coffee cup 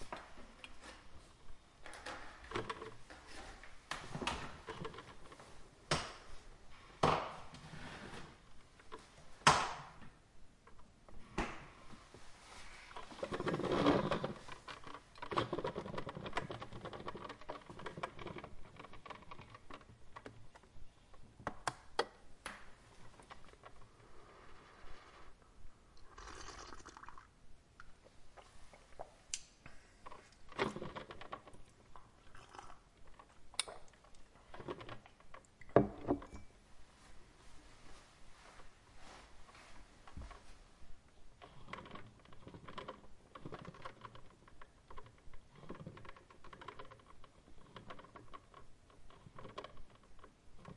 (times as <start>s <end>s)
24.4s 29.1s